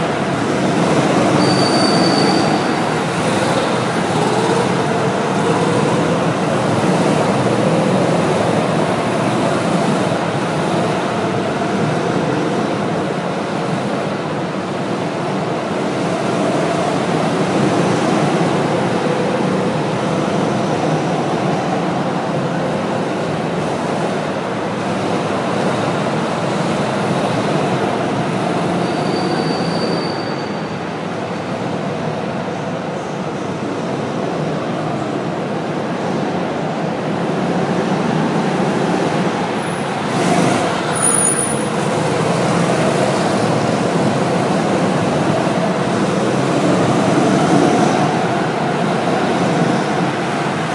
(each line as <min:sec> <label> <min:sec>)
0:00.0 Indoor Go-Kart 0:50.7